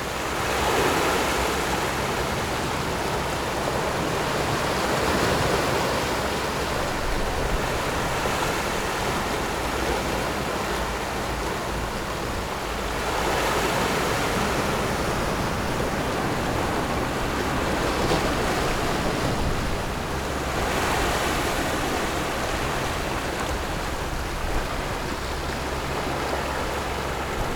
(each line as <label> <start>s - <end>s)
waves 0.0s - 27.5s